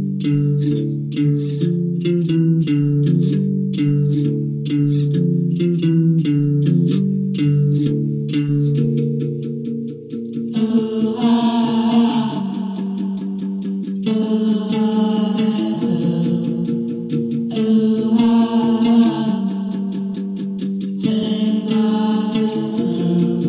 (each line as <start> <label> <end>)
0.0 guitar 23.4
10.3 vocals 23.4